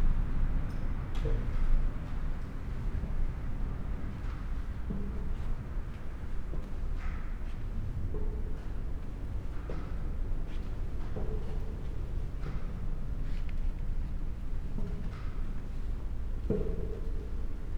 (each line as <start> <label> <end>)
1.3 walking the stairs 17.7